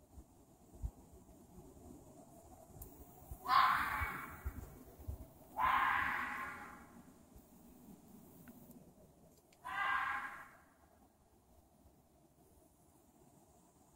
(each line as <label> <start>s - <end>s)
red fox screeching 3.5s - 4.4s
red fox screeching 5.6s - 6.8s
red fox screeching 9.6s - 10.6s